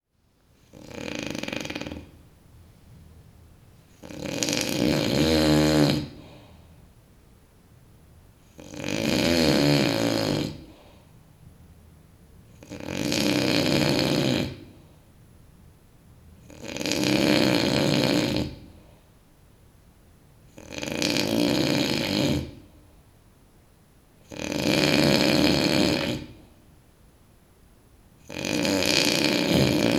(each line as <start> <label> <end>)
0.6 Aggresive male snoring 2.2
4.0 Aggresive male snoring 6.5
8.5 Aggresive male snoring 10.9
12.6 Aggresive male snoring 14.8
16.4 Aggresive male snoring 18.7
20.5 Aggresive male snoring 22.6
24.3 Aggresive male snoring 26.4
28.2 Aggresive male snoring 29.9